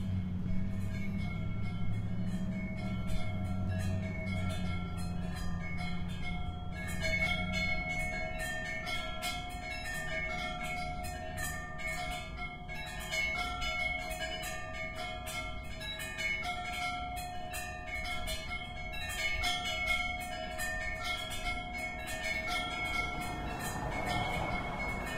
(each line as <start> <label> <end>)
0.0 Nautical Wind Chimes 25.1
0.0 cars 25.1